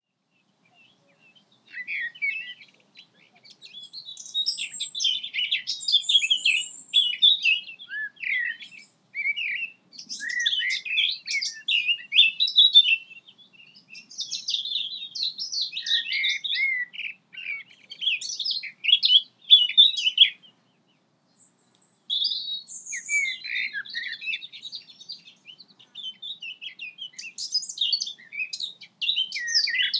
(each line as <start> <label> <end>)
0.2 birds 29.9